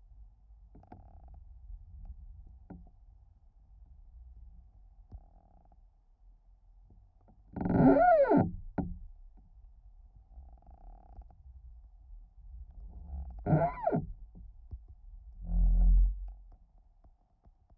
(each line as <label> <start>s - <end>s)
Creaking tree internal bass vibrations and groans 7.3s - 9.2s
Creaking tree internal bass vibrations and groans 10.3s - 17.6s